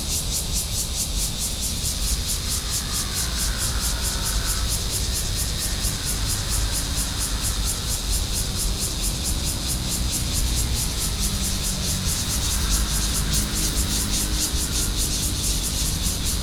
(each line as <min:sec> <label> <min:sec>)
0:00.0 Cicada 0:16.4
0:02.4 traffic sound 0:16.4